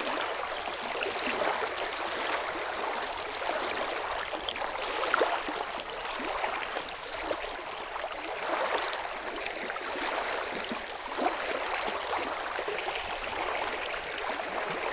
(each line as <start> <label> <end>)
0.0 lake 14.9